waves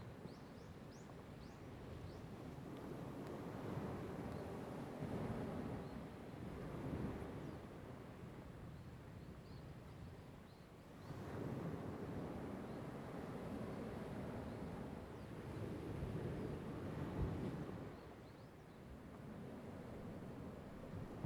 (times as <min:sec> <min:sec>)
0:11.0 0:21.2